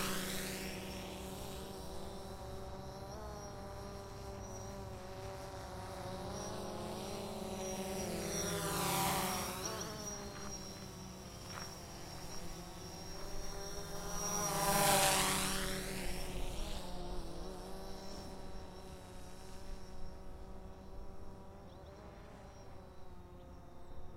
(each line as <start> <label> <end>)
0.0 UAS Drone Pass 23.5